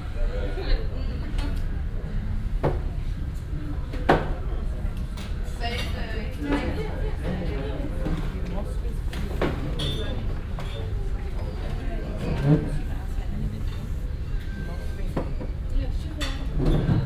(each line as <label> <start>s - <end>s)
chairs being moved 16.4s - 17.0s